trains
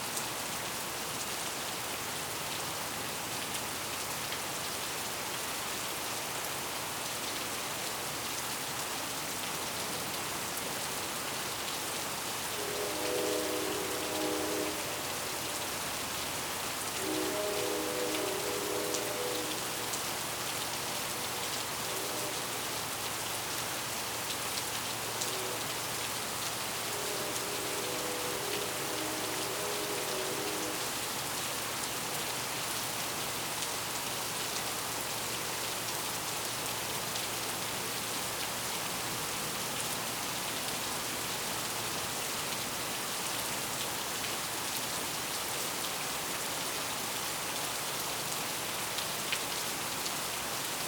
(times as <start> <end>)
11.3 32.9